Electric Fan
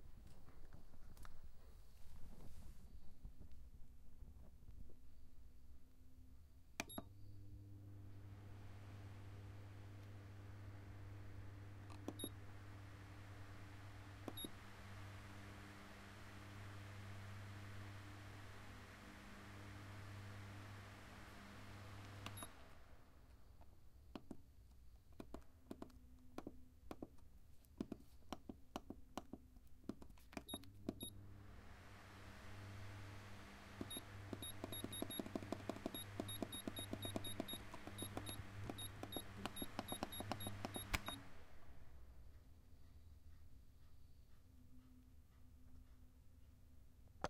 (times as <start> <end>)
5.8 23.6, 30.4 42.8